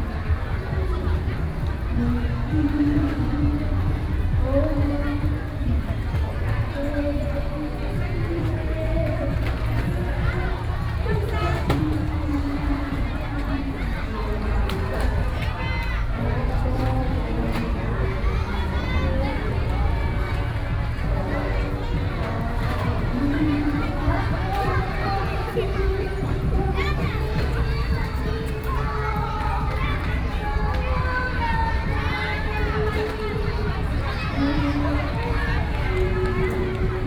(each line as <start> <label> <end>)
0.0 Walking 37.0